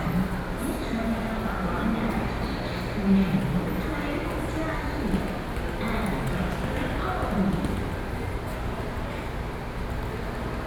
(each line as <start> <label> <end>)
0.0 very loud air conditioning 10.6